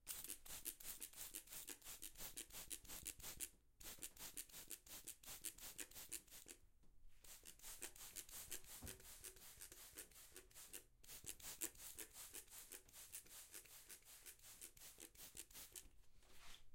spray bottle 0.0 - 6.6
spray bottle 7.2 - 15.9

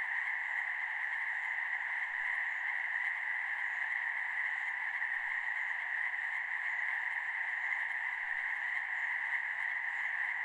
frogs 0.0 - 10.4

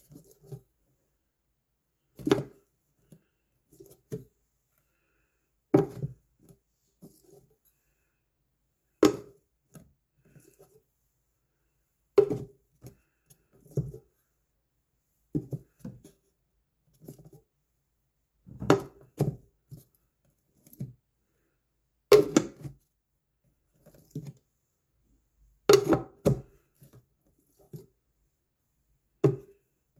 paint can lid open and close 25.7 - 26.5

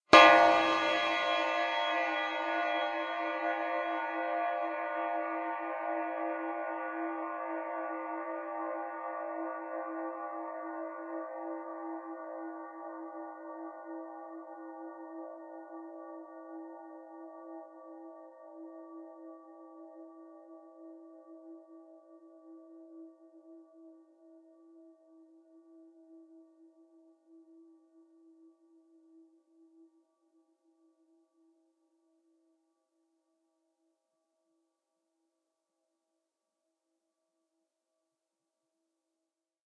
Clang 0.2 - 4.8

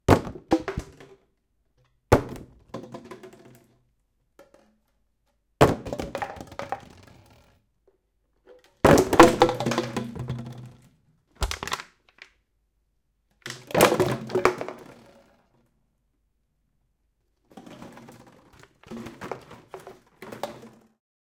Empty Plastic Bottle Falling 0.1 - 1.2
Empty Plastic Bottle Falling 2.1 - 3.7
Empty Plastic Bottle Falling 5.6 - 7.4
Empty Plastic Bottle Falling 8.5 - 10.8
Empty Plastic Bottle Falling 11.4 - 12.3
Empty Plastic Bottle Falling 13.4 - 15.0
Empty Plastic Bottle Falling 17.5 - 21.0

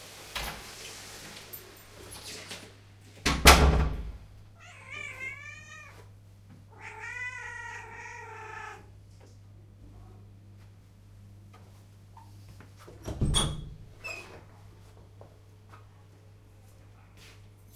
Door opening and closing 3.2 - 4.2
Door opening and closing 12.9 - 14.4

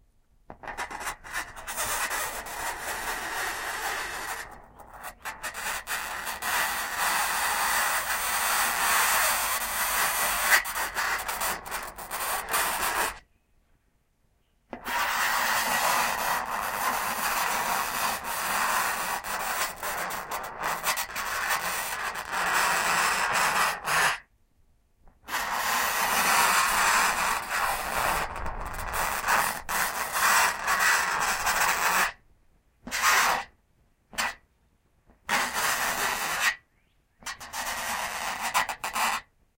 FINGERNAILS ON SIDING 0.5 - 13.2

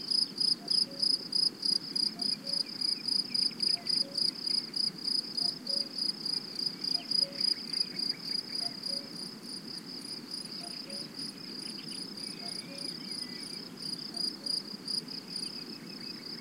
other insects in background 0.0 - 16.4
Crickets singing 0.1 - 16.4
cuckoo 0.6 - 1.2
cuckoo 2.1 - 3.0
cuckoo 3.6 - 4.4
cuckoo 5.4 - 6.0
cuckoo 6.9 - 9.2
cuckoo 10.6 - 11.2
cuckoo 12.2 - 14.7

